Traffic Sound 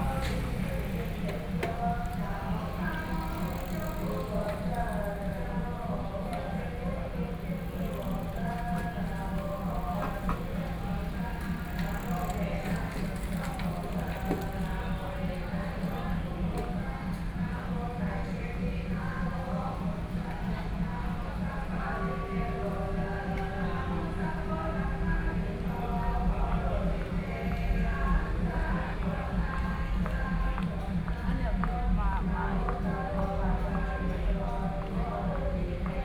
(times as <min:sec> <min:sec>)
0:00.0 0:17.5